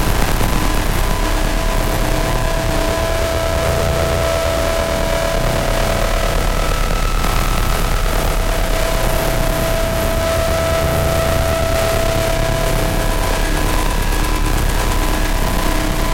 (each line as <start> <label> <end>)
0.0 Еvil noise (fm mod) 16.1